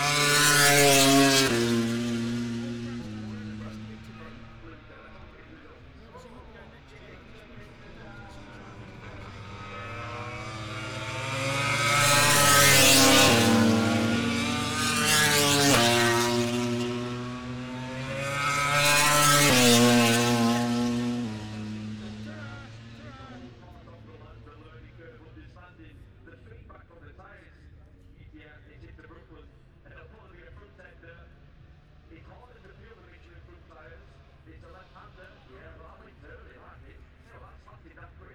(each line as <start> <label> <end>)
0.0 motorcycle grand prix 38.3